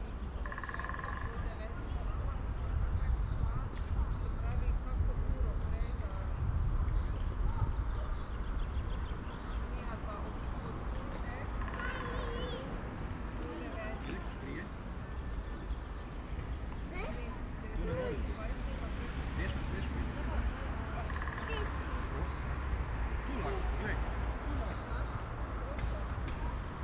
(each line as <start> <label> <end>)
0.0 wind 26.8